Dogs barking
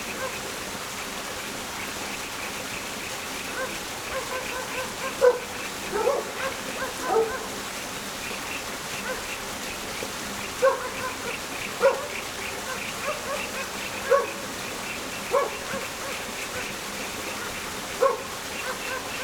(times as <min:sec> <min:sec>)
0:00.1 0:00.6, 0:03.4 0:07.9, 0:08.5 0:09.7, 0:10.5 0:19.2